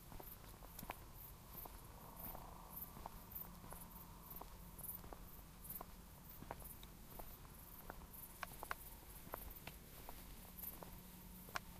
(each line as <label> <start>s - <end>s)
cicadas 0.0s - 11.7s
crickets 0.0s - 11.7s